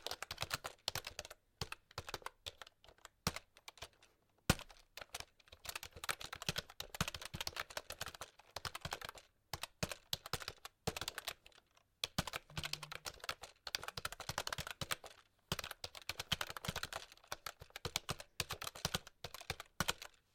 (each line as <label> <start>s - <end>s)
Keyboard Typing 0.0s - 20.3s